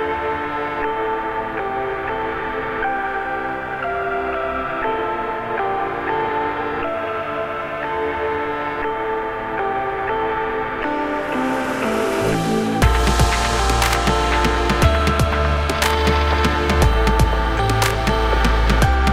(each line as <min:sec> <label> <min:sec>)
0:10.5 song instrumental 0:19.1
0:11.4 drum loop 0:19.1